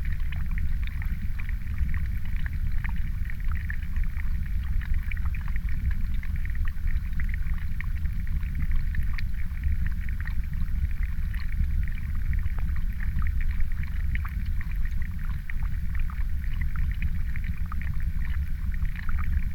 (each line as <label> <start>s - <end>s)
water flows from pond into stream 0.0s - 19.5s